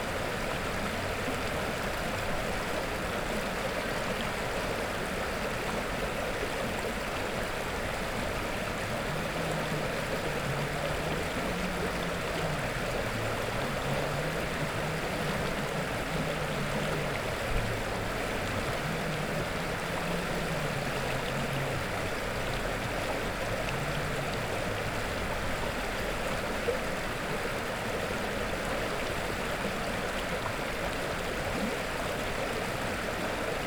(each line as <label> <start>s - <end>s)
river Revúca 0.1s - 33.6s